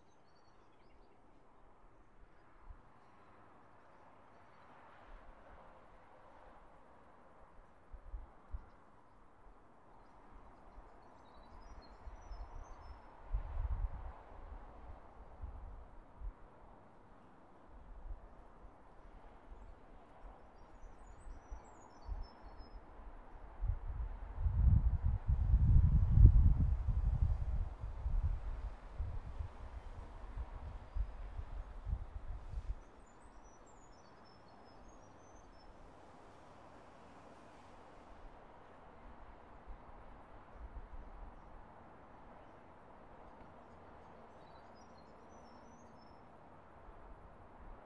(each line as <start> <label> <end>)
44.3 Birds singing 46.2